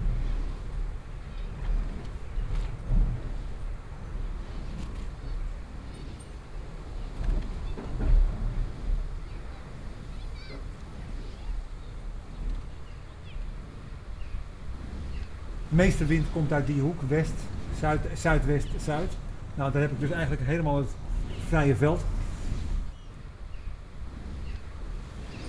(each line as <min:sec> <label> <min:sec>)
0:15.5 rustling sound of the turning wicks 0:23.0